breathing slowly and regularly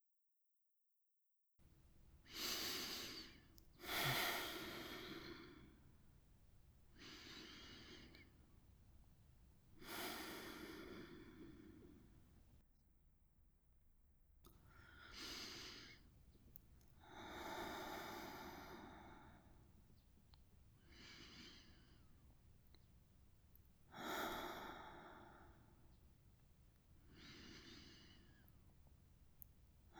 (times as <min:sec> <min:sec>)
0:02.2 0:06.0, 0:06.9 0:08.7, 0:09.7 0:12.5, 0:14.6 0:16.3, 0:16.9 0:20.0, 0:20.7 0:22.9, 0:23.8 0:26.2, 0:26.8 0:28.9